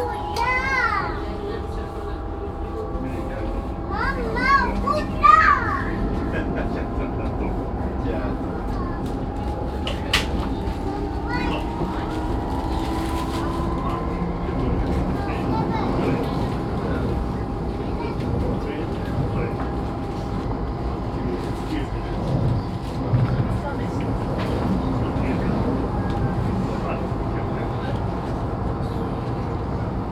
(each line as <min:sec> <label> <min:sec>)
0:00.0 child talking 0:01.5
0:00.0 moving train 0:30.1
0:00.0 train announcemens 0:30.1
0:03.9 child talking 0:06.0
0:10.8 child talking 0:11.9